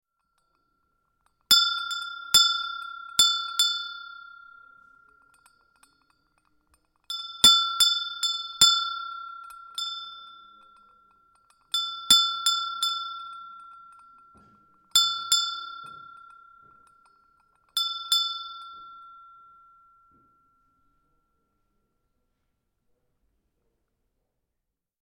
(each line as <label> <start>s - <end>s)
cute brazen hand bell 0.0s - 22.4s